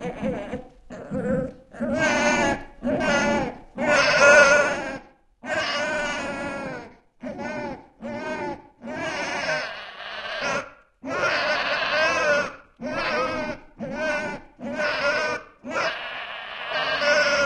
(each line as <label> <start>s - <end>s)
Demon Baby Cry 0.0s - 17.4s